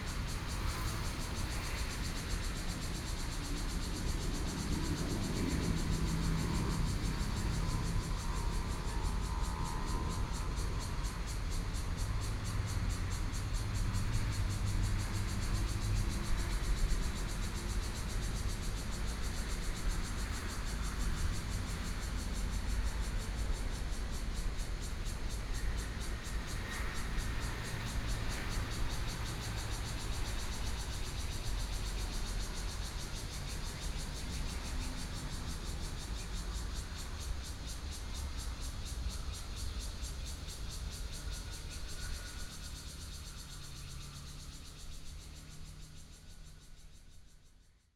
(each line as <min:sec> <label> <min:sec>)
0:00.0 Cicadas sound 0:47.9